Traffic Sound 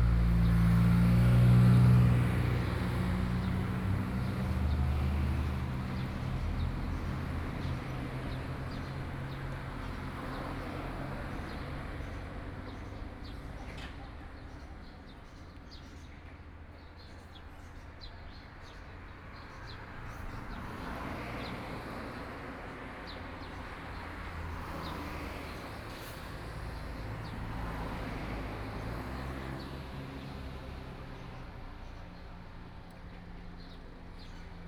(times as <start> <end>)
18.6 34.6